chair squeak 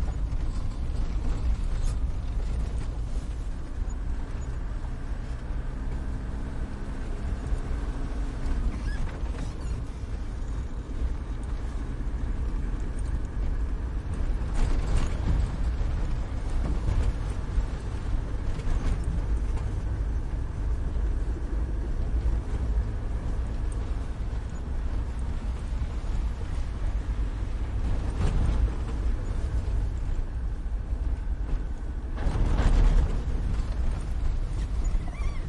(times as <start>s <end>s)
8.7s 9.8s, 34.8s 35.4s